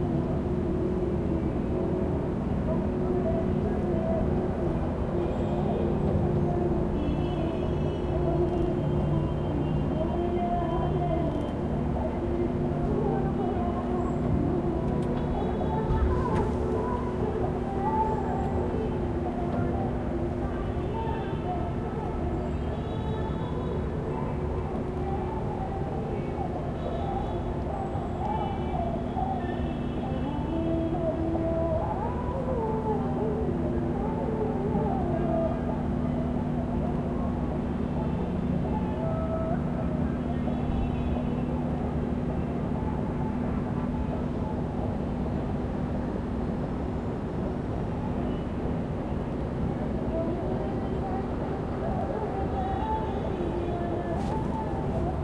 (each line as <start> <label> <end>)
0.0 Light wind 55.2
0.0 traffic 55.2